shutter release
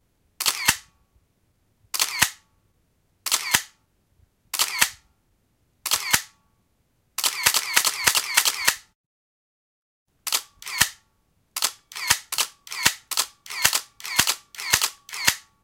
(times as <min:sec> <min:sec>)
0:00.4 0:00.9, 0:02.0 0:02.4, 0:03.3 0:03.8, 0:04.6 0:05.0, 0:05.8 0:06.4, 0:07.2 0:09.0, 0:10.3 0:11.0, 0:11.6 0:15.5